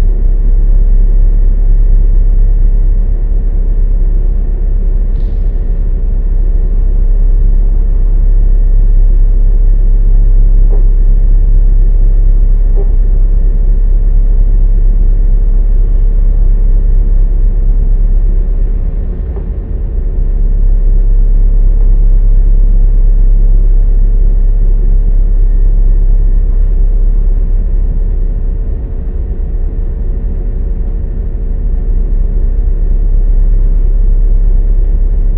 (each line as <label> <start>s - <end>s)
ship motor 5.2s - 8.1s
ship motor 16.6s - 22.6s
ship motor 26.4s - 35.2s